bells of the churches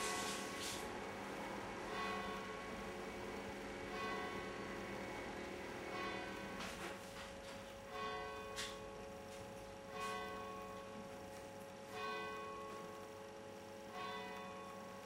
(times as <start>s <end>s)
1.9s 2.8s, 3.9s 4.6s, 5.9s 6.3s, 7.9s 9.0s, 9.9s 11.0s, 11.9s 12.9s, 13.9s 14.9s